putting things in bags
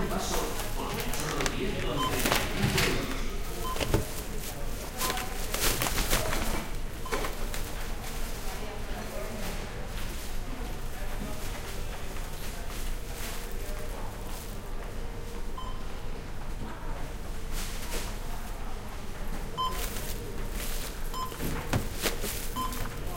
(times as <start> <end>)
0.0 8.1, 19.6 23.1